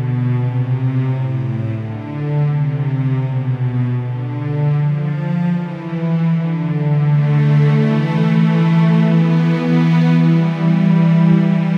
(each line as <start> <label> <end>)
0.0 Slow Dramatic Orchestra Music 11.7